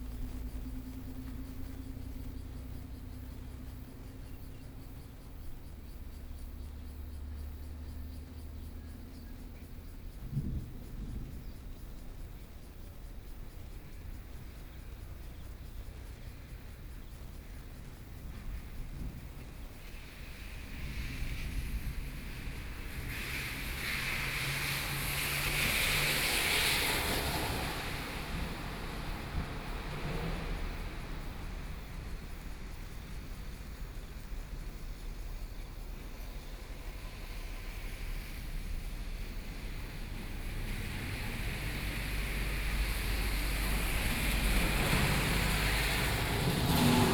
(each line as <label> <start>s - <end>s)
traffic noise 0.0s - 47.1s
Train traveling through 17.4s - 47.1s
Thunder 40.7s - 47.1s